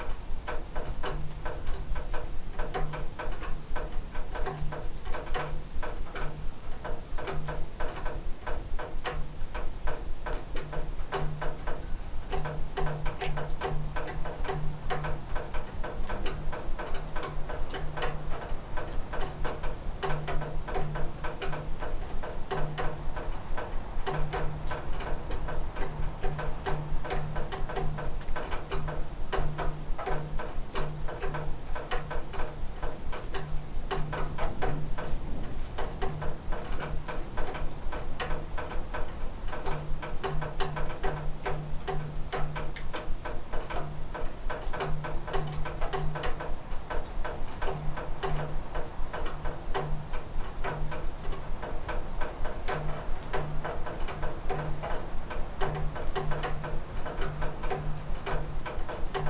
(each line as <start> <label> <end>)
0.0 Water dripping around a house porch 59.2